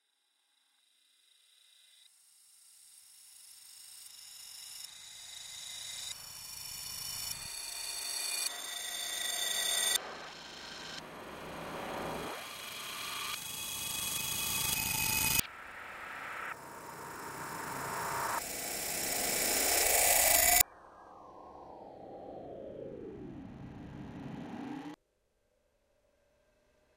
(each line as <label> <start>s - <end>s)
barreau bunker space echo reverse 20.6s - 25.0s